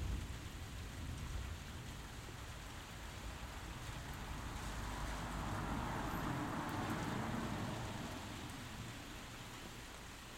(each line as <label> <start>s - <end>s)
Thunderstorm 0.0s - 8.4s
passing traffic 3.3s - 9.9s
general street noise 3.9s - 9.1s